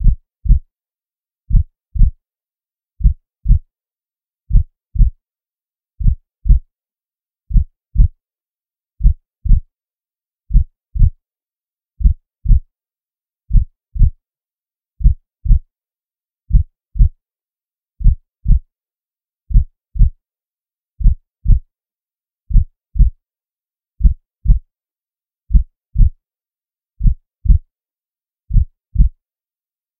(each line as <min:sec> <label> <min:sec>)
0:00.0 synthesised heartbeat 0:00.6
0:01.5 synthesised heartbeat 0:02.2
0:03.0 synthesised heartbeat 0:03.6
0:04.5 synthesised heartbeat 0:05.2
0:06.0 synthesised heartbeat 0:06.6
0:07.5 synthesised heartbeat 0:08.1
0:09.0 synthesised heartbeat 0:09.6
0:10.5 synthesised heartbeat 0:11.1
0:12.0 synthesised heartbeat 0:12.6
0:13.5 synthesised heartbeat 0:14.1
0:15.0 synthesised heartbeat 0:15.6
0:16.5 synthesised heartbeat 0:17.1
0:18.0 synthesised heartbeat 0:18.6
0:19.5 synthesised heartbeat 0:20.1
0:21.0 synthesised heartbeat 0:21.6
0:22.5 synthesised heartbeat 0:23.1
0:24.0 synthesised heartbeat 0:24.6
0:25.5 synthesised heartbeat 0:26.1
0:27.0 synthesised heartbeat 0:27.6
0:28.5 synthesised heartbeat 0:29.1